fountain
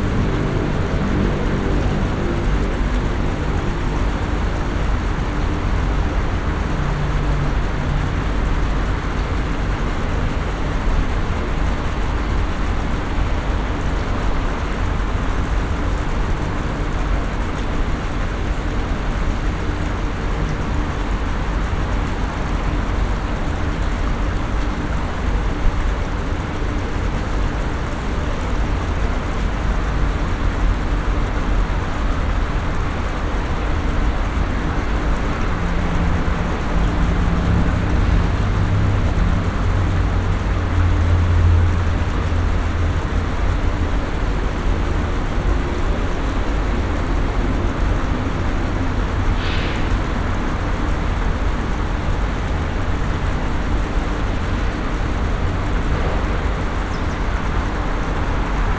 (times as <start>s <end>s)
19.9s 58.7s